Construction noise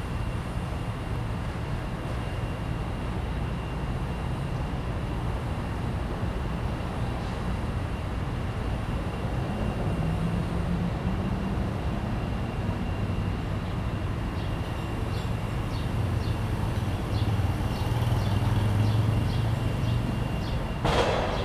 13.4s 21.4s

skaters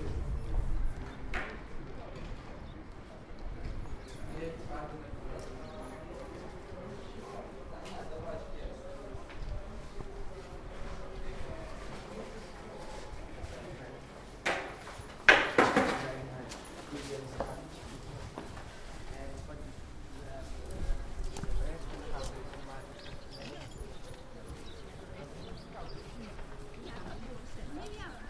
8.1s 19.6s

